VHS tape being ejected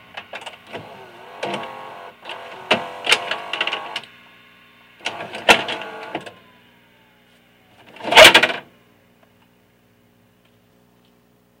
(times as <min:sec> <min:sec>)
0:00.7 0:04.1, 0:05.0 0:06.4